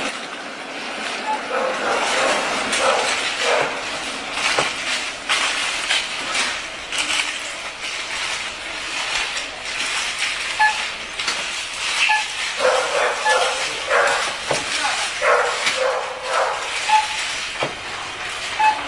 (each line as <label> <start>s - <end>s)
cash desk beeping 1.1s - 18.8s
barking dog 1.4s - 3.9s
cashier questions 6.8s - 18.8s
barking dog 12.6s - 14.4s
barking dog 15.1s - 17.1s